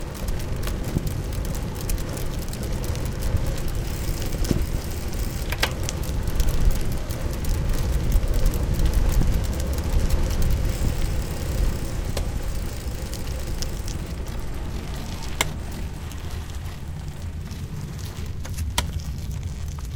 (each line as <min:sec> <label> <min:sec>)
0:00.0 ride on a comfortable city bike 0:19.9